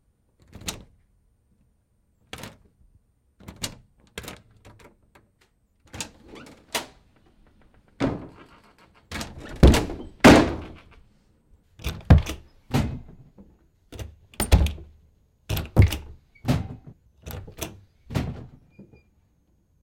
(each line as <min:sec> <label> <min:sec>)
0:00.4 door nob 0:01.0
0:05.9 opening door 0:11.0
0:05.9 Closing door 0:11.0
0:11.8 door nob 0:12.5
0:11.8 opening door 0:13.1
0:11.8 Closing door 0:13.2
0:14.0 Closing door 0:14.9
0:14.0 door nob 0:14.9
0:15.5 door nob 0:16.6
0:15.5 Closing door 0:19.1
0:15.5 opening door 0:19.1